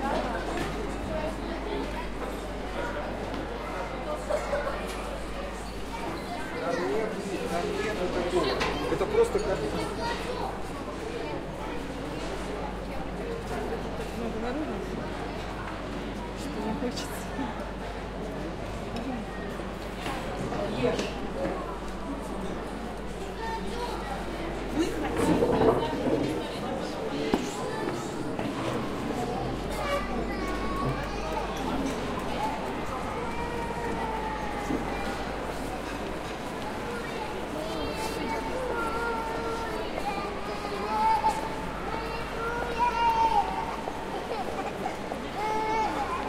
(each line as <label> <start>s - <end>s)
children voices 0.0s - 14.0s
Peoples talk 0.0s - 46.2s
children voices 19.3s - 46.2s